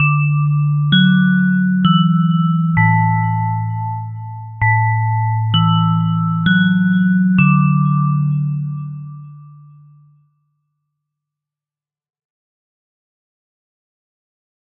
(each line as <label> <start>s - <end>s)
School bell synth 0.0s - 10.2s